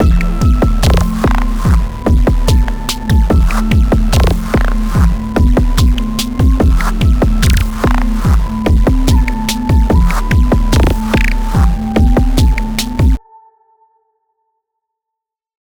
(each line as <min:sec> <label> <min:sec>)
0:00.0 bass 0:13.2
0:00.0 melody 0:13.2
0:00.0 percussion 0:13.2